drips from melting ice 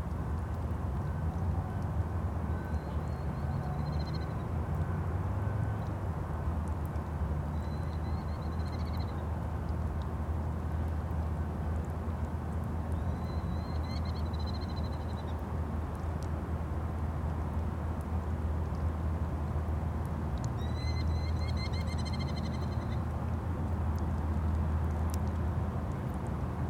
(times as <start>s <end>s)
10.8s 16.3s